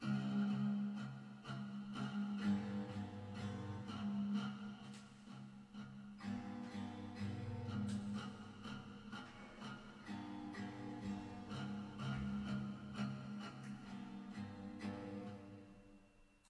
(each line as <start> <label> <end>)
0.0 old broken guitar 16.1